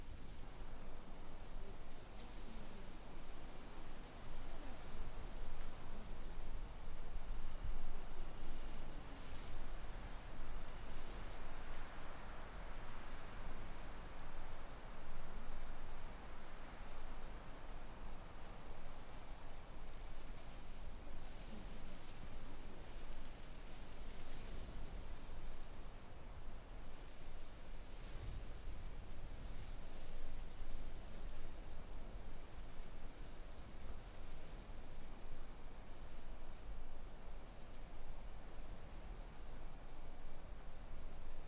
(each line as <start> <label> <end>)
0.0 Stronger Wind Trees Field Grass 01 41.4